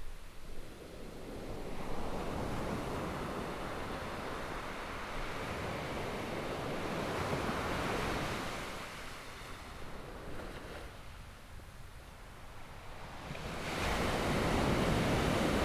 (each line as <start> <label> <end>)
13.1 waves 15.6